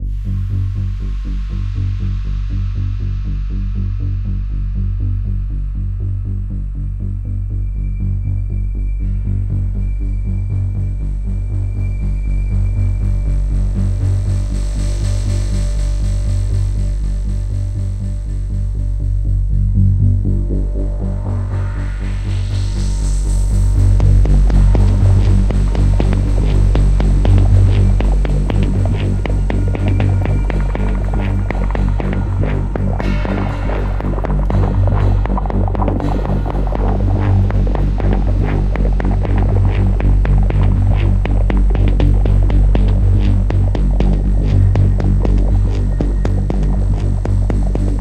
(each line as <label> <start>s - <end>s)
rising bass pulse 0.0s - 48.0s